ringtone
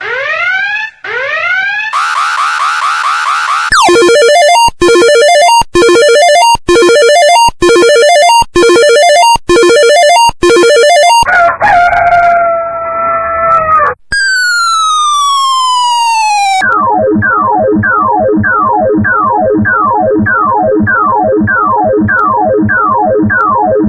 3.7 11.3, 14.1 23.8

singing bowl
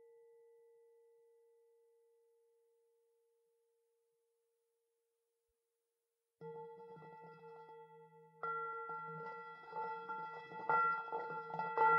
6.4 11.9

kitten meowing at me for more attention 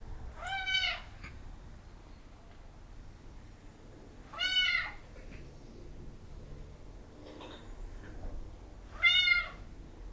0.4 1.1, 4.3 5.0, 8.9 9.7

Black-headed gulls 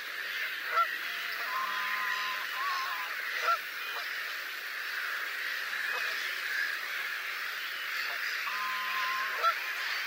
0.7 4.1, 8.1 9.7

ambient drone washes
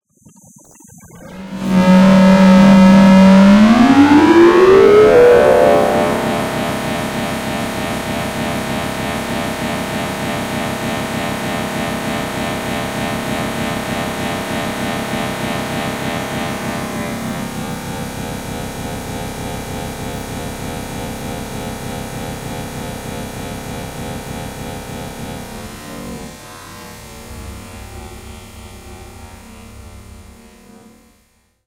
1.0 17.6

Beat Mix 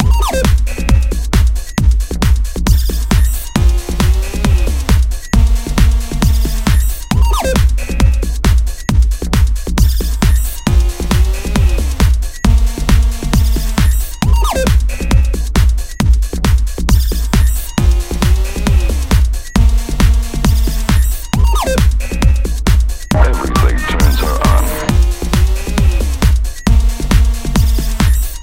23.1 25.0

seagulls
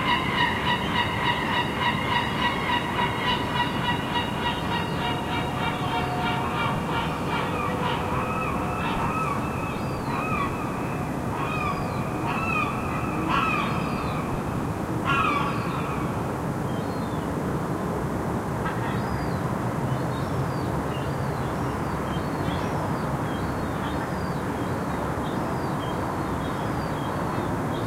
0.0 16.1

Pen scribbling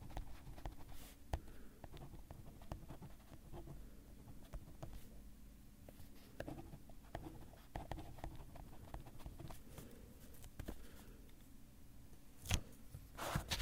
6.4 9.6

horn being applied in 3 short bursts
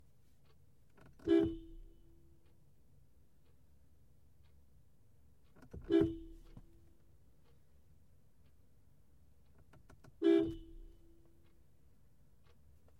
1.2 2.0, 5.8 6.8, 10.2 11.2

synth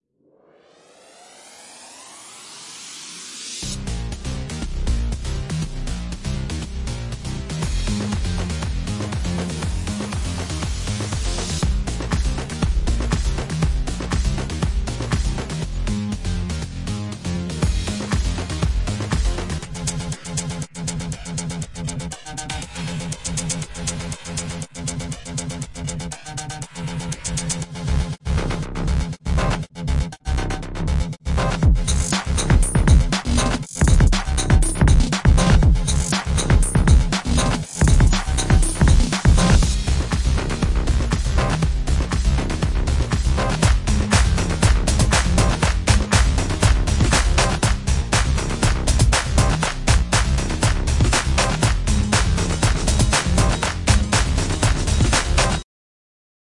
0.1 4.0

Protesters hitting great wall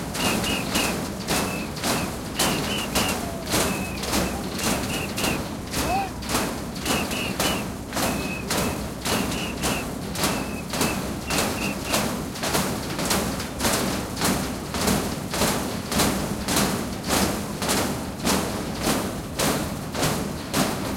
0.0 13.9

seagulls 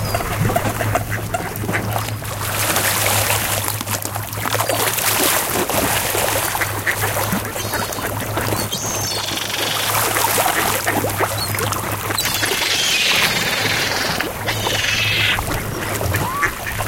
7.5 16.8

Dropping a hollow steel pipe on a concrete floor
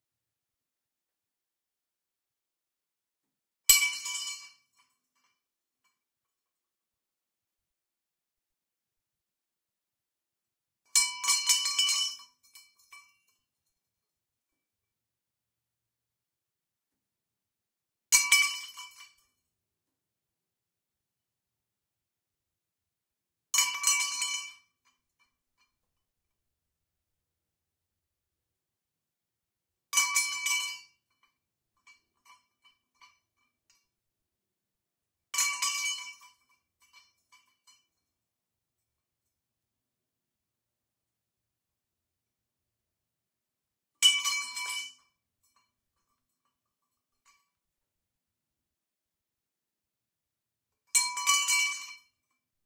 3.7 6.9, 11.0 14.5, 18.1 19.6, 23.6 26.3, 30.0 34.0, 35.4 39.4, 44.0 47.9, 50.9 52.5

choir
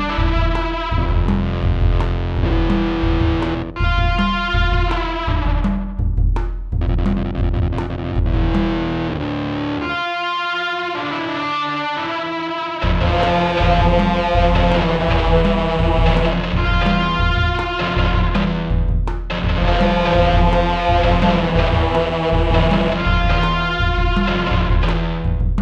13.1 16.5, 20.0 23.4

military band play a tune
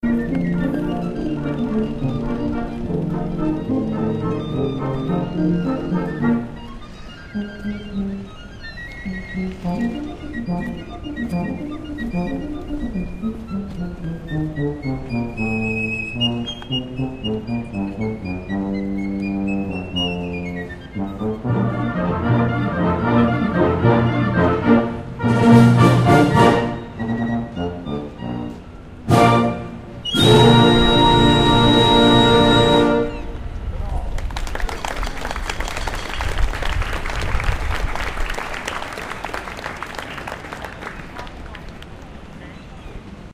0.0 33.6

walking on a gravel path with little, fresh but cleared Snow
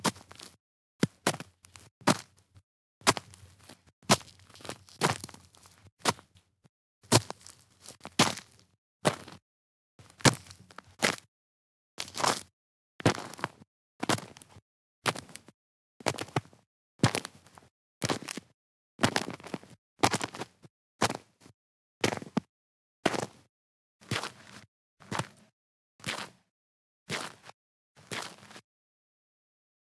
0.0 2.4, 3.0 6.4, 7.1 9.4, 10.0 11.3, 12.0 14.5, 19.0 21.2, 27.1 28.6

